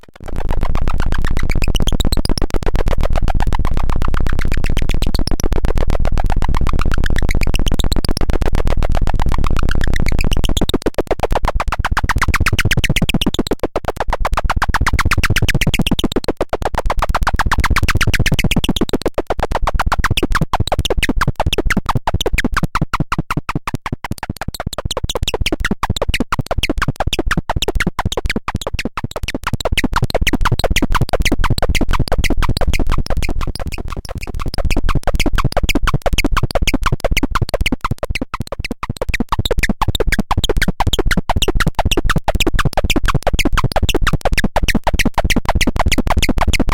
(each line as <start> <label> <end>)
30.4 modular synthesizer 46.7